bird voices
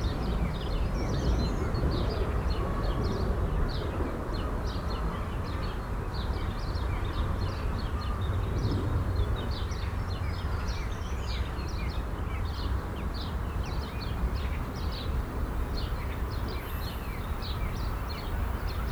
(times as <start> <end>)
11.7 18.9